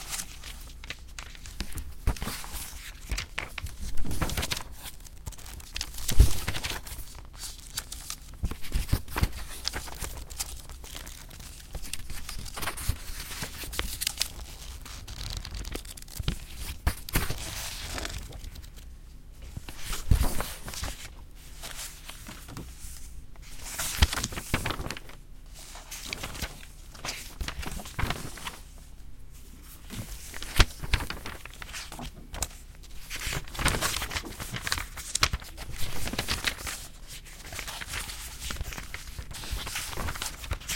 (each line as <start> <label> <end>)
0.0 people turning book pages 40.7